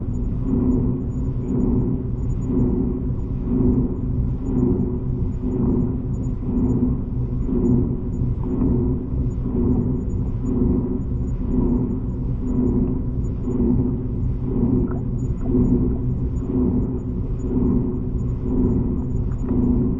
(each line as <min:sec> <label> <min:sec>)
0:00.0 Panning drone 0:19.9
0:14.7 bubbles 0:16.0